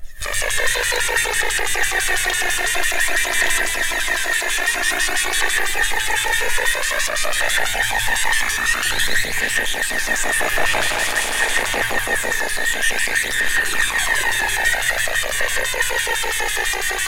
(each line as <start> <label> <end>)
10.3 Vibrating buzzer 14.6